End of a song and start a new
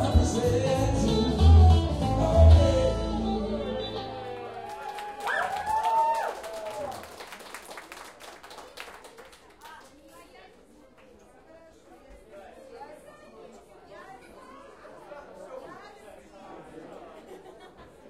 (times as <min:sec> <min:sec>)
0:00.0 0:04.9